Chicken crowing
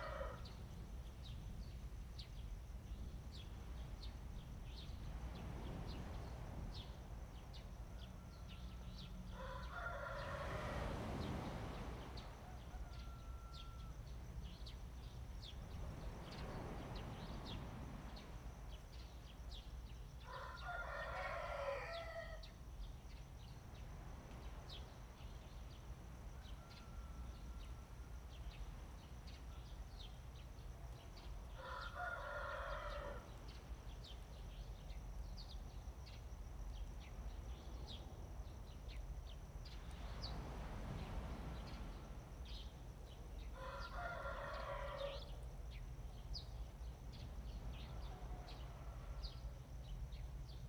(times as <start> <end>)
0.0 0.4, 9.4 10.8, 12.4 13.9, 20.3 22.4, 31.6 33.3, 43.6 45.3